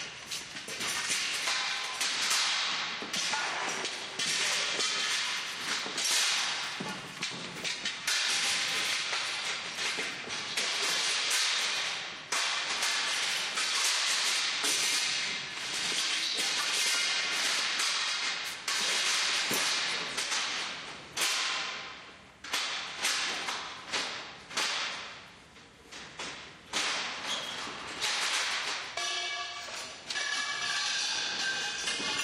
bangs 0:26.7 - 0:32.2
clanging tubes are dragged to the hoister 0:27.2 - 0:32.2
bongs 0:28.9 - 0:32.2

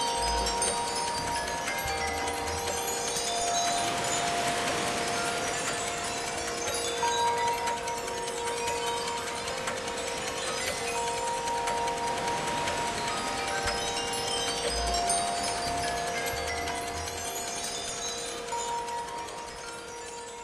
bells 0:00.0 - 0:20.4
clock 0:00.0 - 0:20.4
wind 0:00.0 - 0:20.4
wind chimes 0:00.0 - 0:20.4

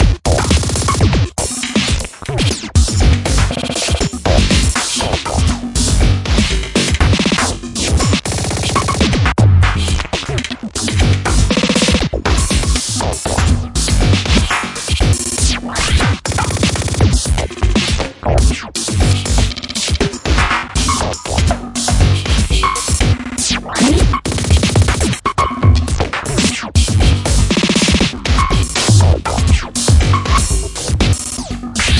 Crazy rhythm 0:00.0 - 0:31.9

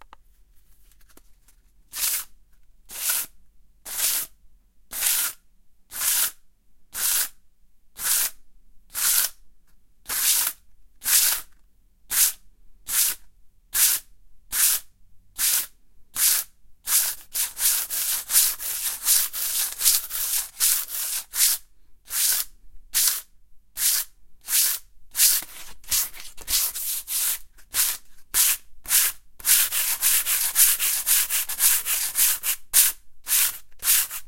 sand paper on wooden surface 0:16.3 - 0:23.2
sand paper on wooden surface 0:23.8 - 0:34.2

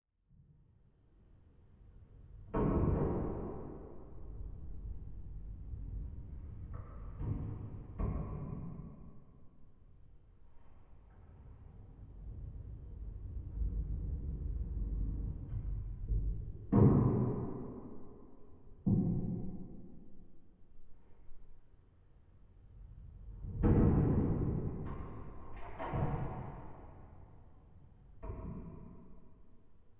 Strange, unsettling noises echoing up from a dark, creepy basement 0:00.3 - 0:29.9

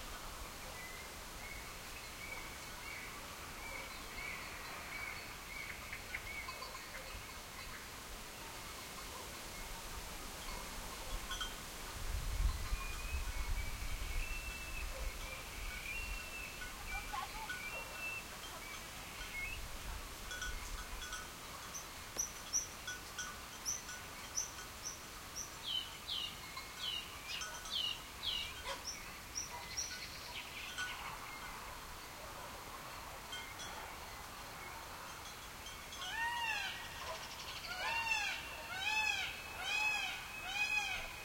leafy wind through trees 0:00.0 - 0:41.2
birds 0:00.5 - 0:11.6
sheep bells tinkle 0:03.8 - 0:08.0
sheep bells tinkle 0:10.4 - 0:11.7
sheep bells tinkle 0:12.4 - 0:31.6
birds 0:12.5 - 0:41.2
distant dogs bark 0:14.8 - 0:15.5
distant dogs bark 0:17.4 - 0:18.3
distant dogs bark 0:28.6 - 0:34.1
sheep bells tinkle 0:33.3 - 0:33.8
sheep bells tinkle 0:35.1 - 0:37.9

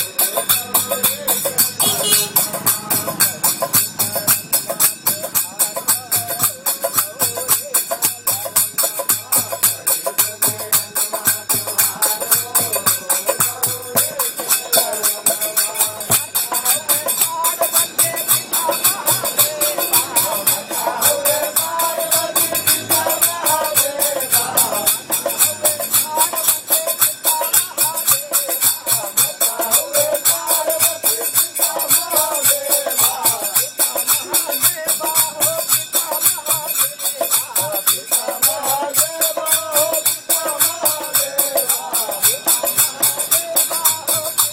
Hindi Kirtana performed by few locals 0:00.0 - 0:44.5

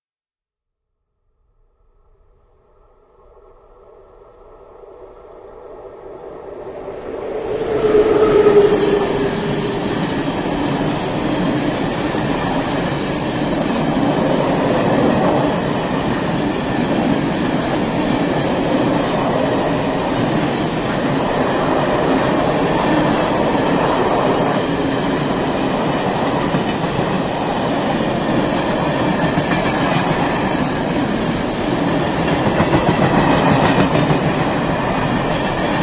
goods train, slower 0:02.4 - 0:35.8

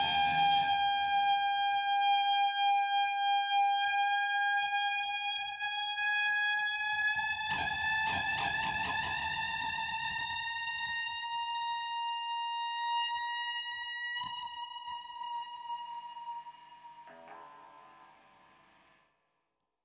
guitar riser reverse wah wah 0:00.0 - 0:01.5

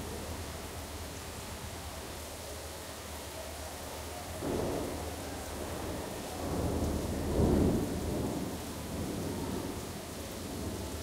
thunder 0:04.4 - 0:09.9

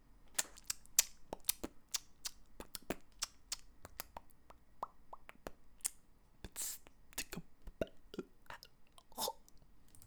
beatbox 0:00.4 - 0:08.0

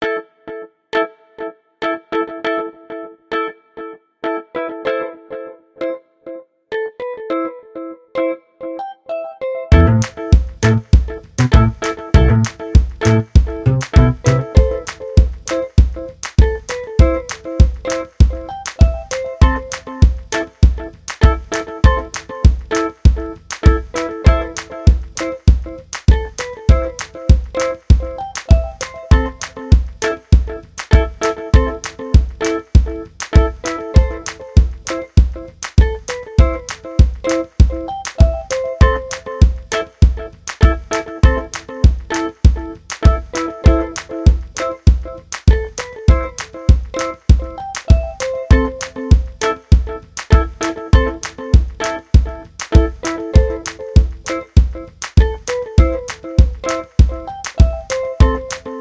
music 0:06.8 - 0:58.8

